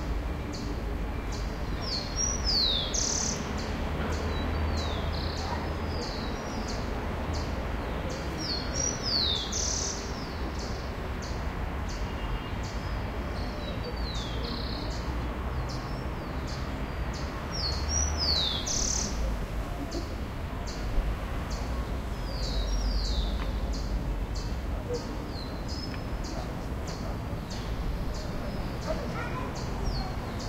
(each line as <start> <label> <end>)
0.0 distant traffic 30.4
21.5 bird 30.4